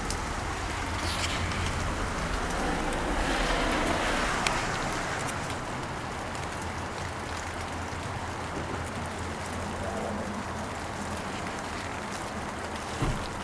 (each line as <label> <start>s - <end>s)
taxis stopping 0.0s - 9.6s
moderate rain 0.0s - 13.4s